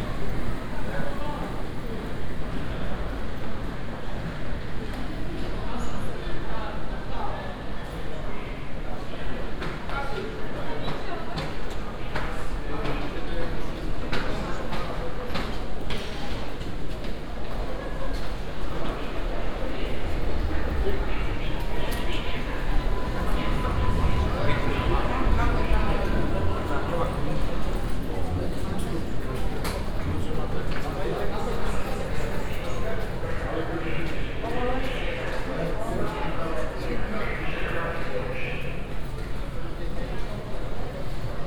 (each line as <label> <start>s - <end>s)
hurrying passengers 17.3s - 41.4s
trains idling 18.2s - 35.3s
train announcements 18.4s - 41.0s